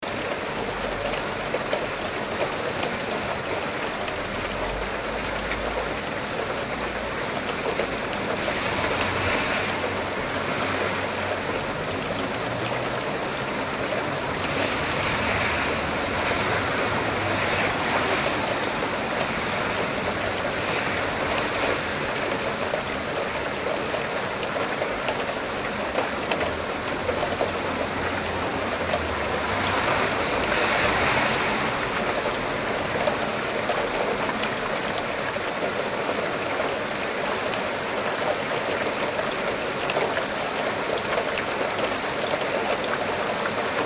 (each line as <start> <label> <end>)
0.0 Heavy Rain 43.8
0.1 cars going past 43.8